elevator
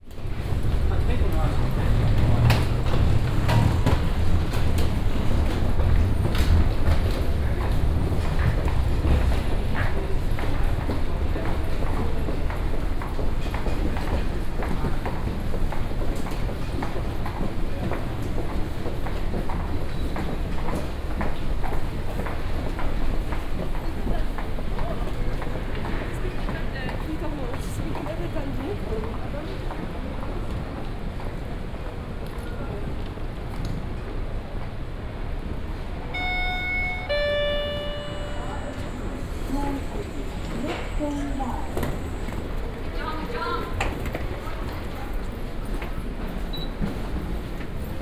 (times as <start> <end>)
36.1 42.2